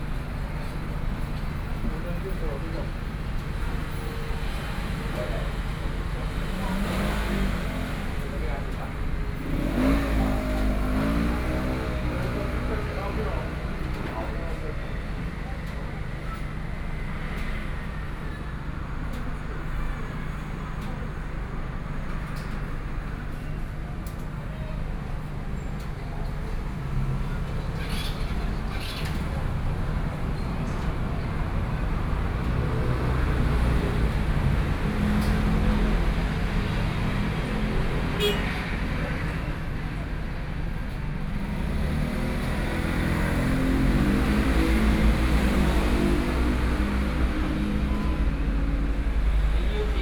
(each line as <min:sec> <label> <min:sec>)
0:00.0 Traffic Sound 0:50.0